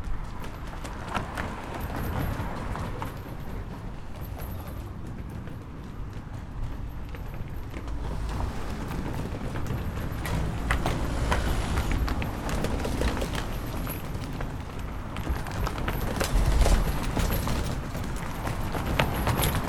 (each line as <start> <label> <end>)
0.0 Cars Passing Over Hammersmith Bridge 19.6